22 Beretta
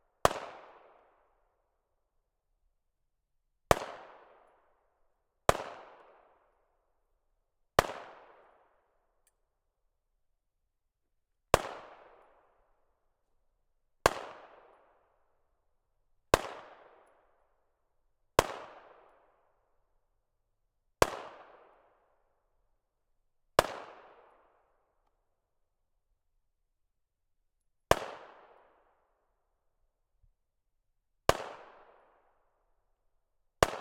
33.6 33.8

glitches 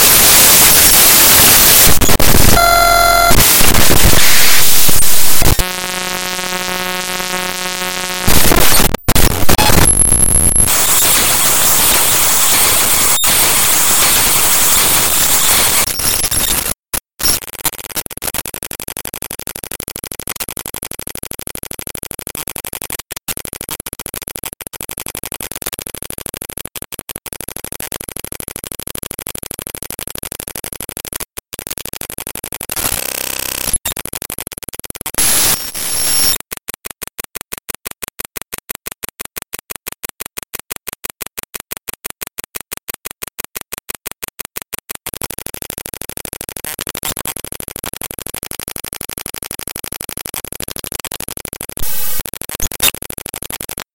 0.0 19.4, 30.9 34.0, 35.2 36.5, 50.4 53.8

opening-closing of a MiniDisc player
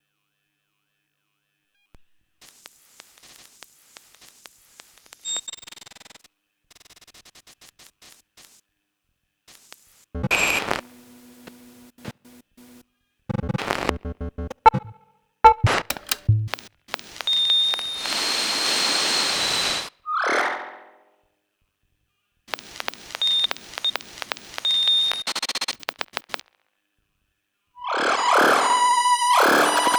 15.7 16.6

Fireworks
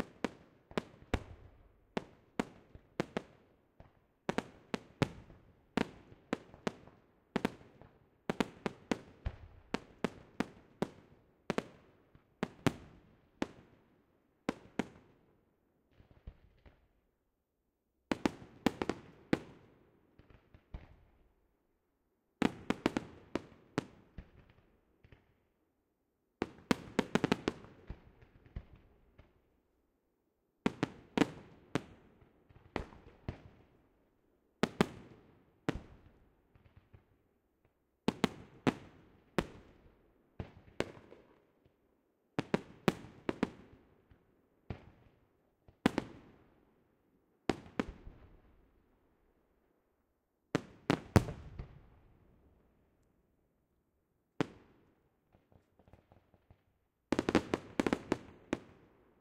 0.0 13.8, 14.5 15.2, 15.9 16.9, 18.1 21.3, 22.4 25.4, 26.4 29.4, 30.7 33.9, 34.6 37.2, 38.1 41.8, 42.4 46.5, 47.5 48.6, 50.6 52.6, 54.4 59.0

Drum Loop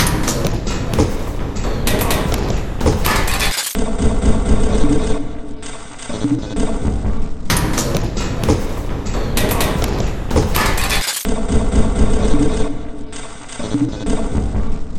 0.0 3.5, 8.0 11.8

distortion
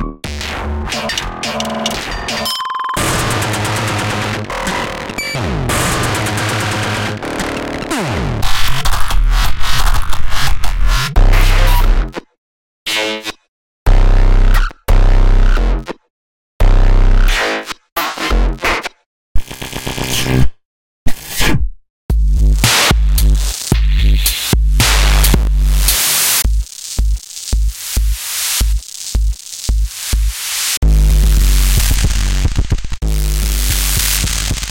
0.0 12.1, 22.1 34.7

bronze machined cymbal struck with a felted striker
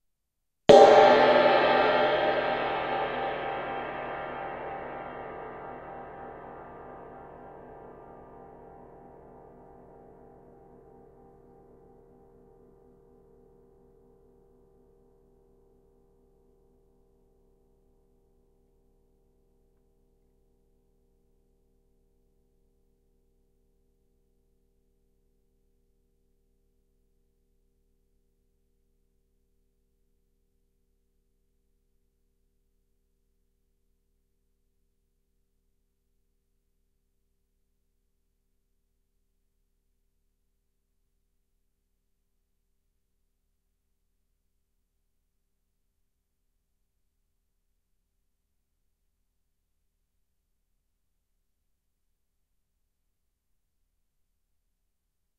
0.7 7.4

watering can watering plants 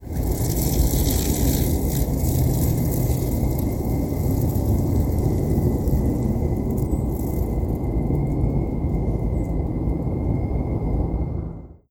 0.0 7.5

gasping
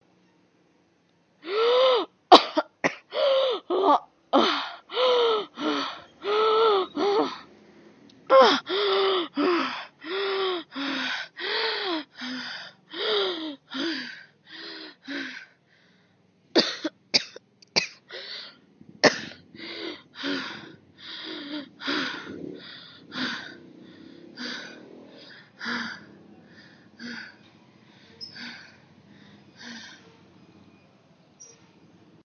3.1 7.6, 8.2 16.1, 18.1 30.3

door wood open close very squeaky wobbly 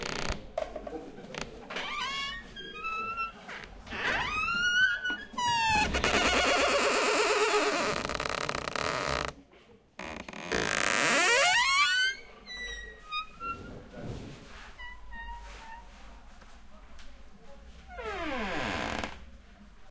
1.8 9.3, 10.0 13.6

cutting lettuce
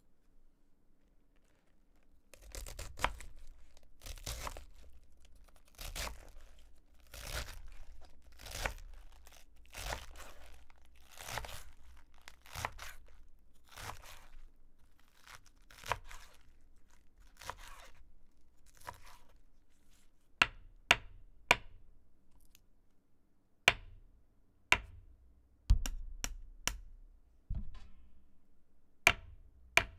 2.3 19.4

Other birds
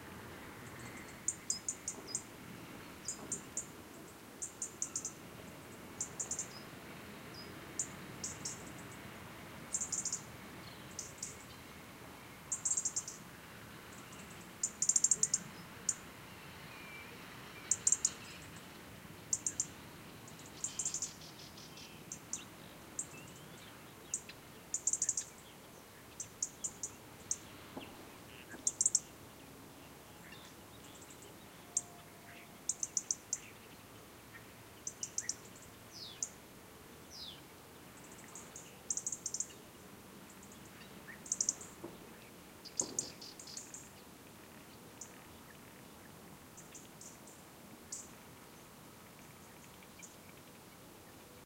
13.8 36.4, 37.0 51.4

